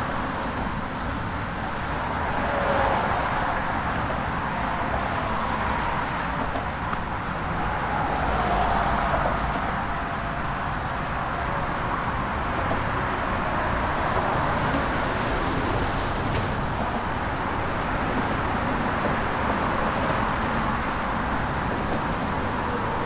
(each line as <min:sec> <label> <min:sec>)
0:00.0 traffic 0:23.0